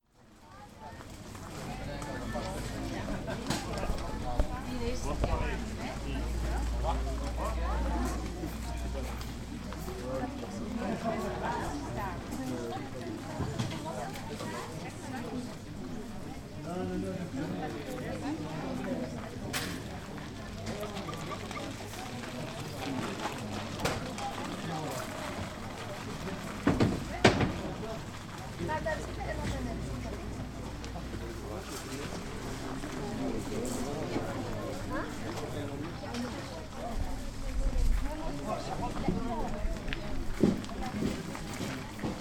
People cricle round the stools 0:00.2 - 0:42.2

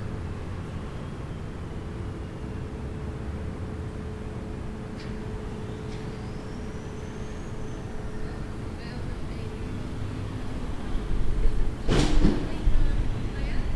Traffic sounds (buses, cars, ...) 0:00.0 - 0:13.7
Machinery 0:04.9 - 0:13.7
People passing by, talking 0:08.1 - 0:13.7

